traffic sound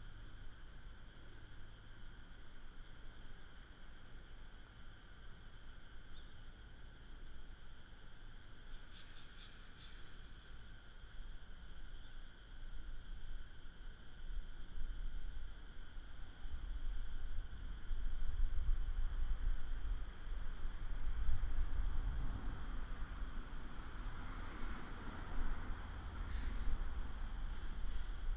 21.1 28.3

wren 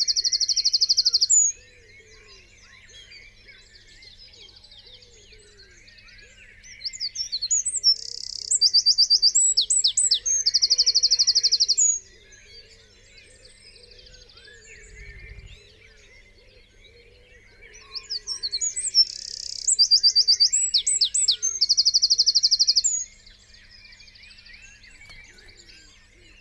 24.6 26.4

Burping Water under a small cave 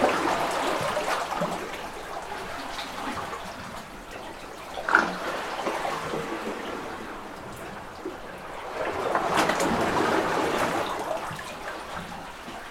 4.7 6.7

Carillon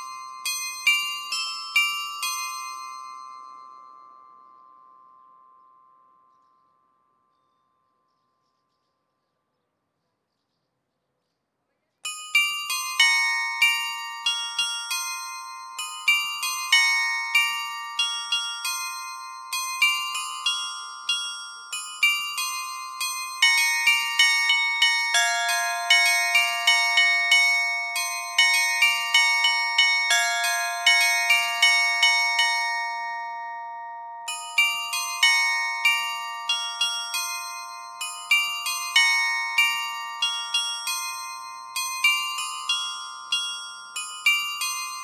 12.1 45.0

